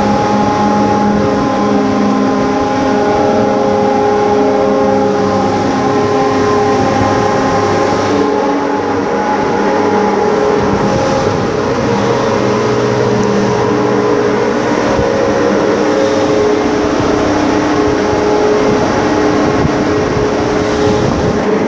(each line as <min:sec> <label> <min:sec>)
0:00.0 Ship Crane 0:21.6